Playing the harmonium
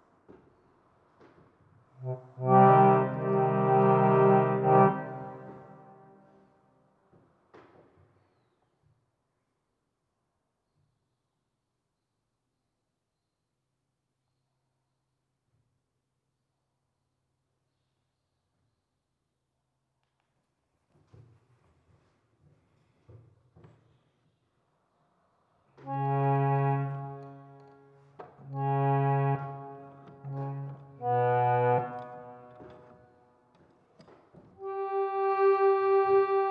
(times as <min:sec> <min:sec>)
0:02.4 0:06.2, 0:25.9 0:33.0, 0:34.6 0:36.5